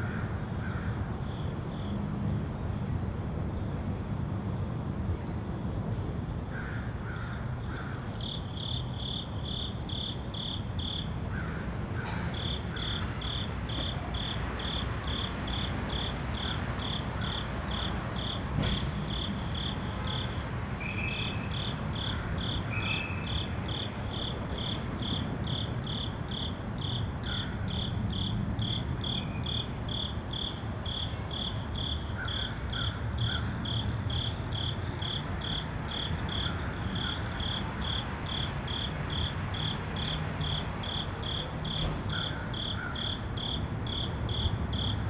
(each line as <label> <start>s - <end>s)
traffic 0.0s - 45.0s
cricket 0.0s - 2.4s
cricket 6.6s - 45.0s